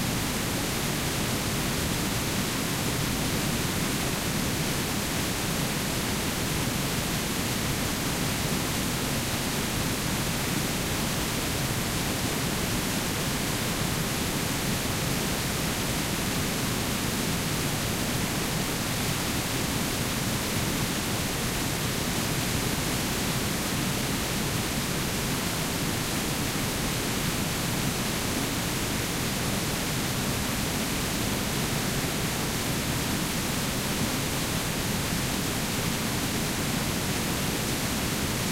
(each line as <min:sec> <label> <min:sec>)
0:00.0 Waterfall 0:38.5